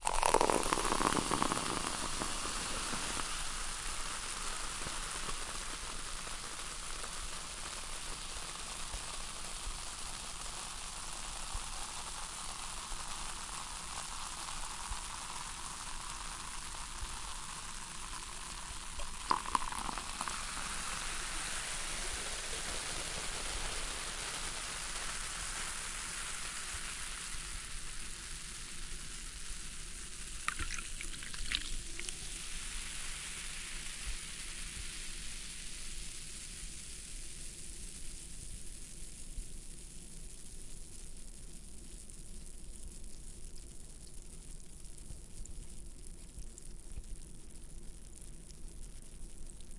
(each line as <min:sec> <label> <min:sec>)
0:00.0 soda pour out in glass 0:36.6
0:00.0 effervescency of gas in glass of soda 0:49.7